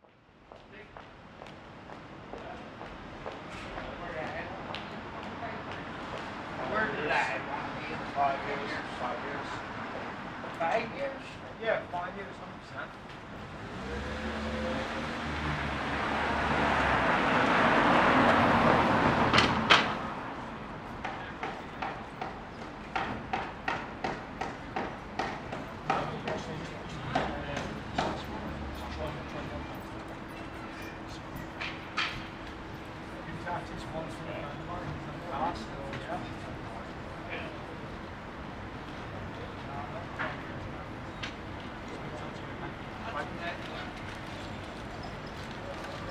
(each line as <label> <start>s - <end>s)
a few passerby 0.4s - 23.3s
hammers 21.0s - 26.5s
a few passerby 24.4s - 46.1s